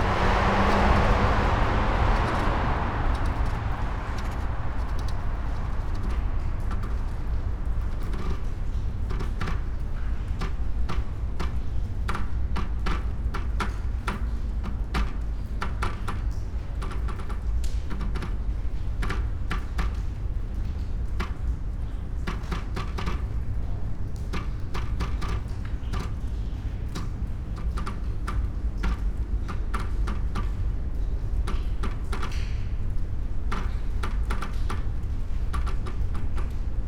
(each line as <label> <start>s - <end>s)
typewriter, covered with sea salt, rust 7.8s - 32.8s
typewriter, covered with sea salt, rust 33.4s - 36.8s